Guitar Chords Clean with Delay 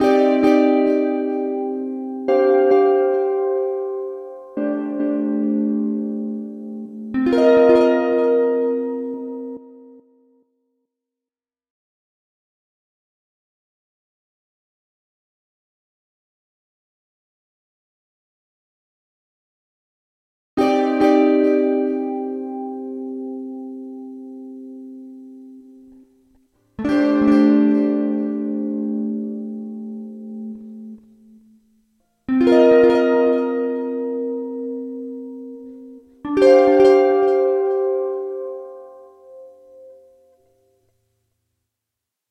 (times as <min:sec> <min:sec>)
0:00.0 0:10.3, 0:20.6 0:40.7